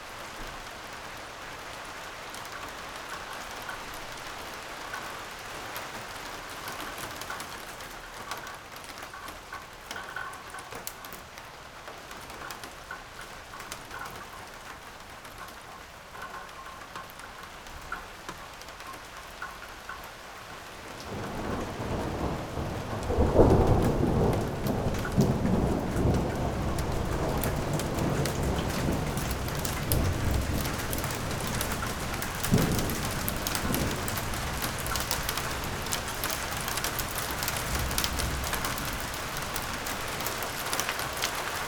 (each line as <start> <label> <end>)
0.0 rain 41.6
21.1 thunder approaches 40.5